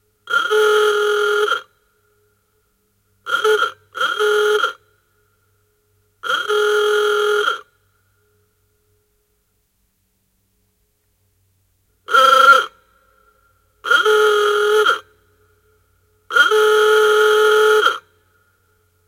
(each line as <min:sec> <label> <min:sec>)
0:00.3 old car, hoarse horn honking 0:01.8
0:03.2 old car, hoarse horn honking 0:05.4
0:06.2 old car, hoarse horn honking 0:07.8
0:12.1 old car, hoarse horn honking 0:12.8
0:13.8 old car, hoarse horn honking 0:18.5